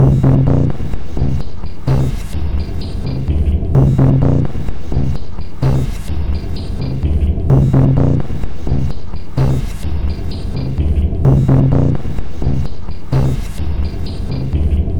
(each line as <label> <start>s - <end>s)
Drum 0.0s - 14.9s